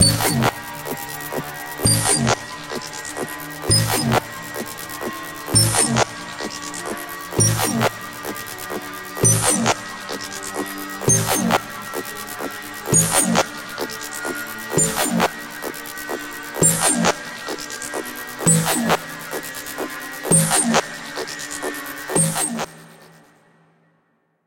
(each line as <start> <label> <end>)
0.0 beat 20.8
0.0 drone 23.8
21.6 beat 22.7